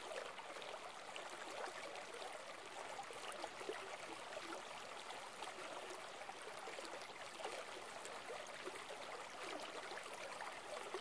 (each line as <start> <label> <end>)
0.0 stream 11.0